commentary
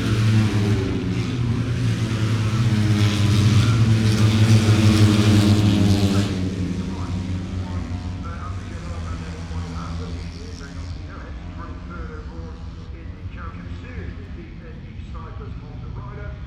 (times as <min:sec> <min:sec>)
0:06.0 0:16.4